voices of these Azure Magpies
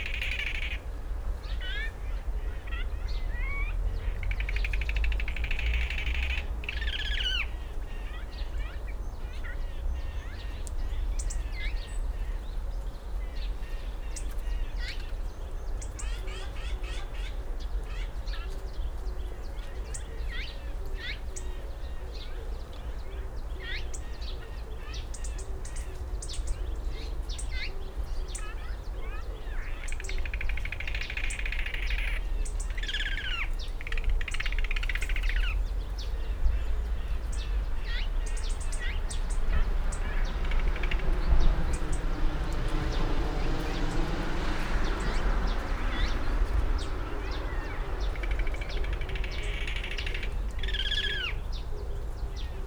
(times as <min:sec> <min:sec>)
0:27.3 0:43.0, 0:44.8 0:52.6